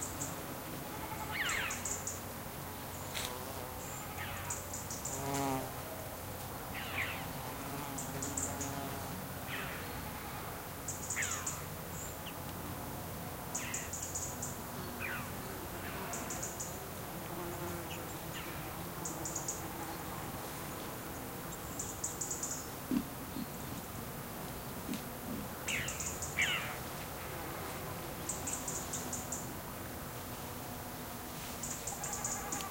buzzing insects 0.0 - 32.7
bleating goats 0.8 - 1.6
bleating goats 3.8 - 4.5
bleating goats 32.0 - 32.7

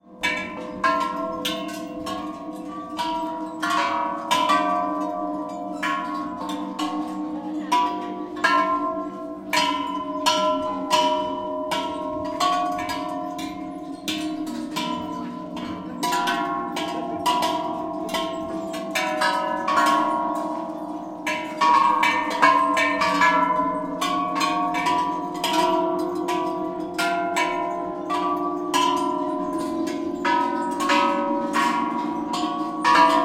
Bells 0.0 - 33.2

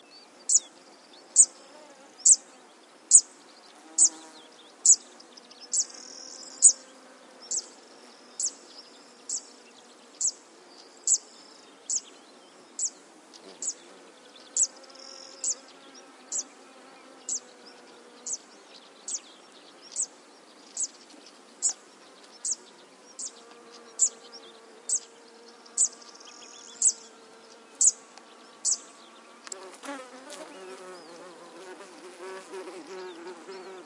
Other birds in background 0.0 - 33.8

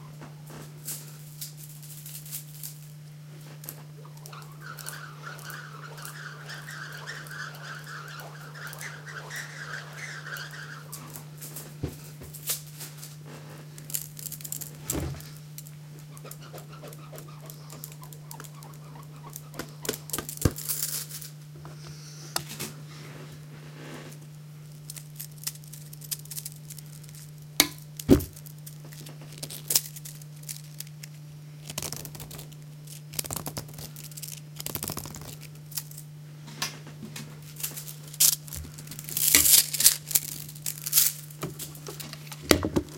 slinkies are twirled around in the air 0.8 - 21.4
small plastic slinky being pulled and stretched 3.6 - 11.7
slinkies are twirled around in the air 24.2 - 36.1
small plastic slinky being pulled and stretched 24.8 - 27.4
small plastic slinky being pulled and stretched 28.0 - 36.0
slinkies are twirled around in the air 37.5 - 42.9
small plastic slinky being pulled and stretched 37.6 - 42.4

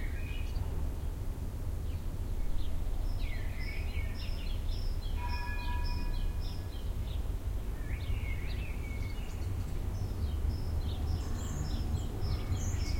sparrows 0.0 - 1.2
blackbirds 1.8 - 12.9
sparrows 1.8 - 12.9
northern wren 3.3 - 6.9

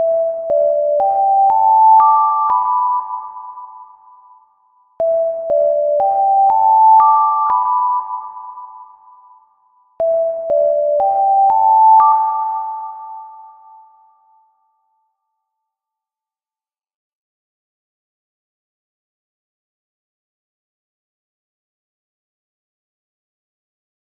alarm 0.0 - 15.2

